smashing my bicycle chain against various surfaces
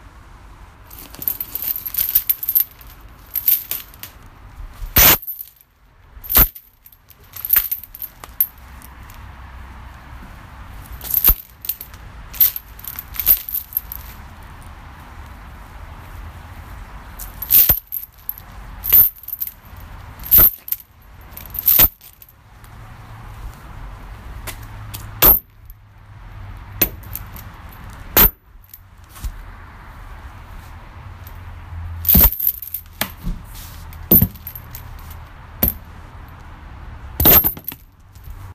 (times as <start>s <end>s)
0.9s 9.2s, 10.8s 14.4s, 17.1s 22.4s, 24.5s 25.8s, 26.7s 29.4s, 31.2s 35.9s, 37.2s 38.5s